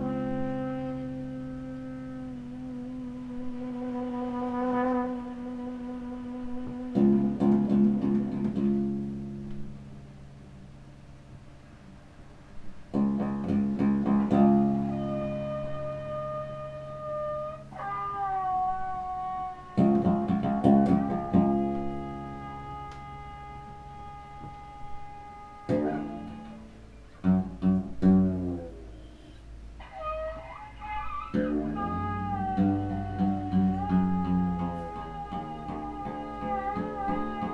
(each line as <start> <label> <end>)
30.1 ethernet orchestra performance 37.5